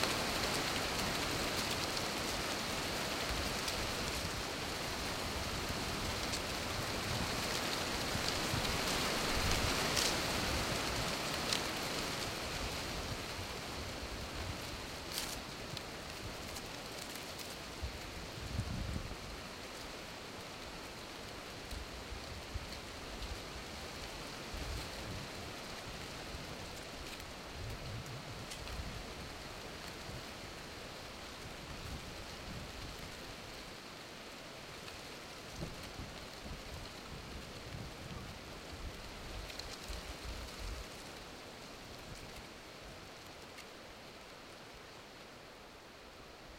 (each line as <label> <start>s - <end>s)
Trees Blowing in a Steady Wind 0.0s - 46.5s